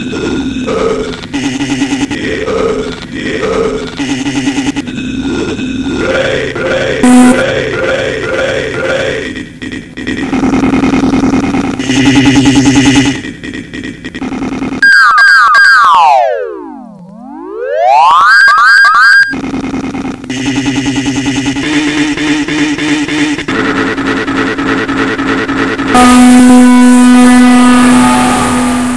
robotic music 0:05.9 - 0:14.8

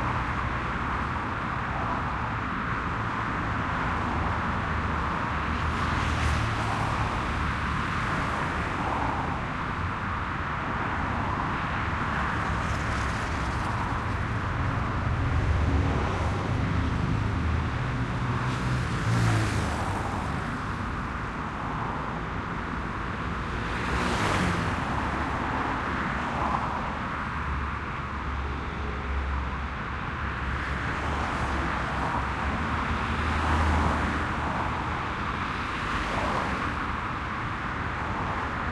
City Highway Busy 0:00.0 - 0:38.7

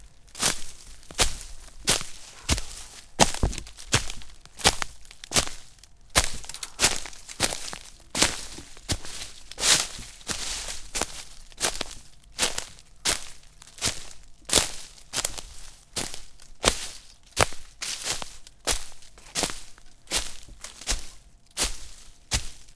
rustling leaves 0:00.0 - 0:22.7
steps 0:00.0 - 0:22.7
Breaking snapping twigs 0:03.1 - 0:08.8

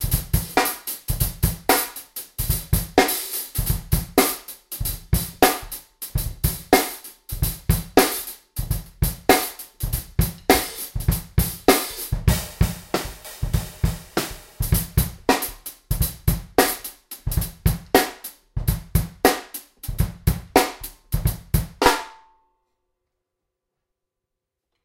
hi hats w tambourine on top 0:00.0 - 0:22.0
small+big snare 0:03.0 - 0:08.4
small+big snare 0:09.3 - 0:22.3

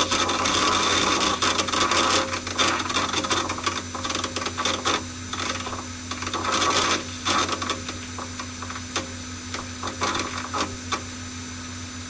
server hard drive 0:00.0 - 0:12.0

